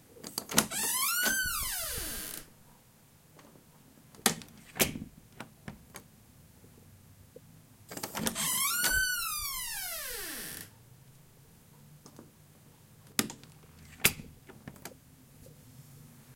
0.2s Opening And Closing Door 2.5s
4.2s Opening And Closing Door 6.1s
7.9s Opening And Closing Door 10.7s
13.1s Opening And Closing Door 15.0s

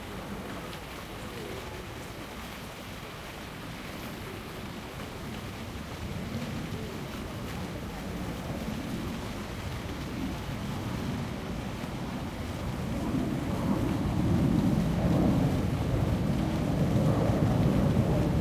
4.0s airplane 18.4s

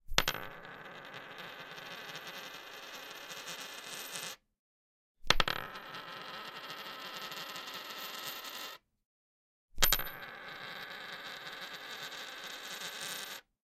0.2s coin spinning on oak table 4.4s
5.3s coin spinning on oak table 8.8s
9.8s coin spinning on oak table 13.5s

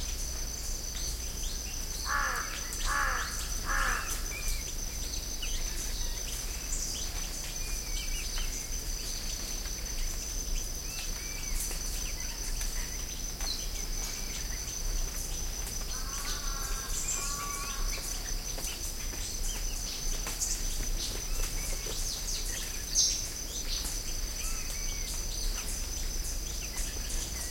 0.0s crickets 27.5s
0.9s birds 27.5s

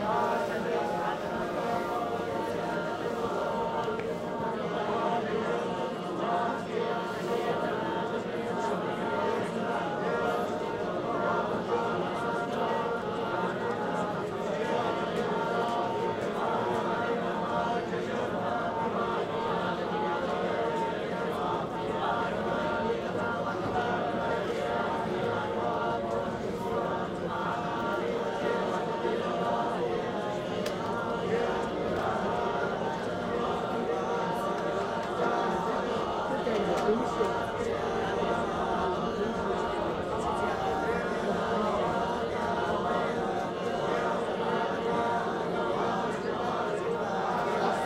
0.0s Buddhist Monks calling to prayer 47.8s
0.0s voices around, mostly Mandarin speakers 47.8s

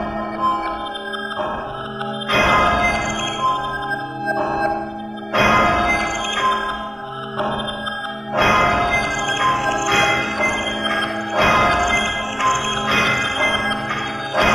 5.4s machinery 14.5s

